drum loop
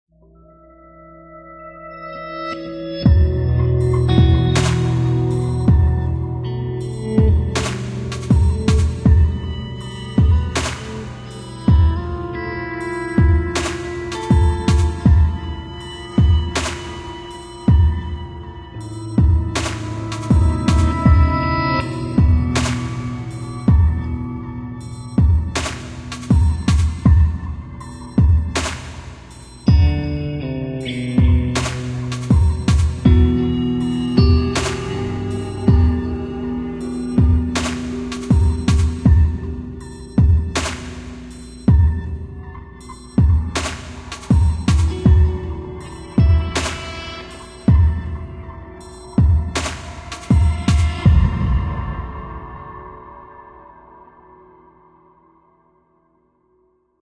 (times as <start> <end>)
7.1 9.5, 10.2 12.2, 13.2 18.2, 18.9 24.2, 24.9 30.0, 31.2 42.2, 43.1 48.2, 48.9 51.5